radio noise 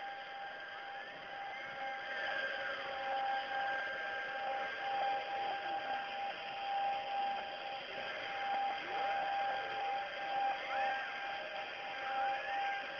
6.7 12.9

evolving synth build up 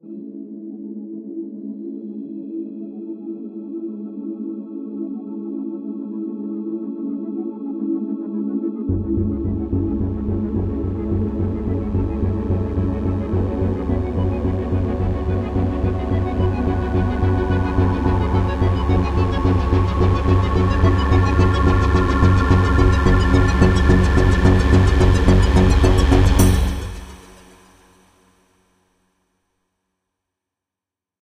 8.9 27.9

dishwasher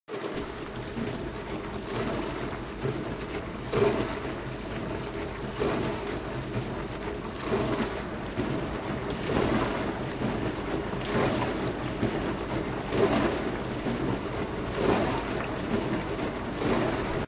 7.3 17.2

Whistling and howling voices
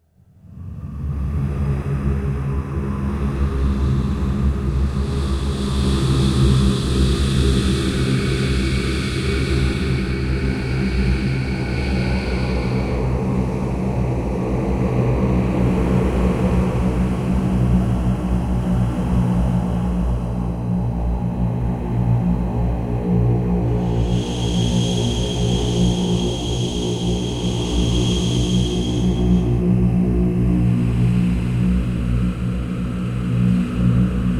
23.8 29.6

